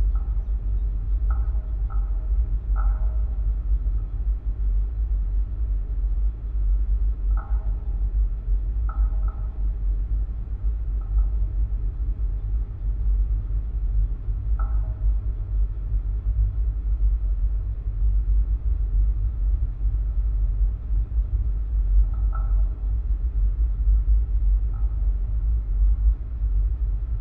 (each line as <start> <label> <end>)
0.0 cell tower's support cable 27.2